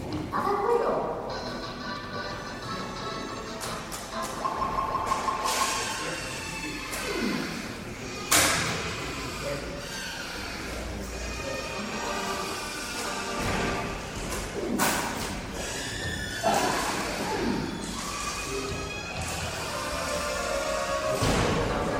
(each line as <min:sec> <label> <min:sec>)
0:00.0 voices filling the space 0:21.9
0:01.4 electronic sounds of a machine 0:08.2